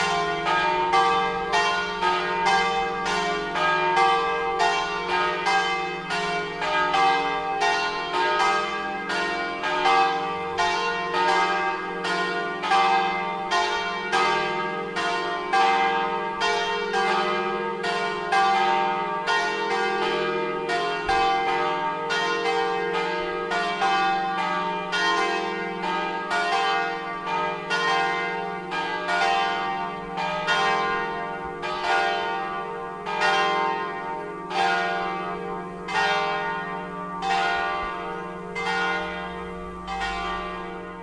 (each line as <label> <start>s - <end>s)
bell tower 0.0s - 41.0s